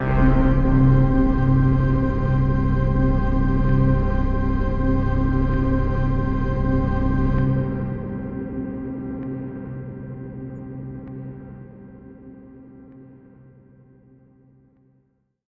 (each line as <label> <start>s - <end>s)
bass 0.0s - 11.6s